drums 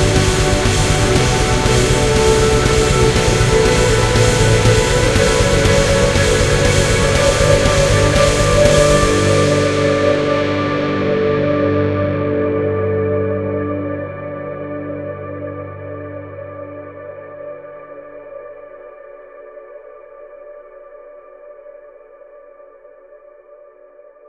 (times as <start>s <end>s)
0.0s 12.3s